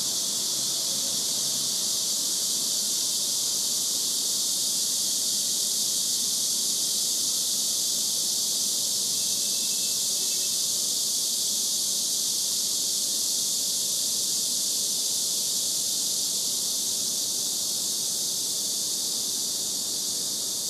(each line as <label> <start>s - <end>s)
deafening sound of Cicadas 0.0s - 20.6s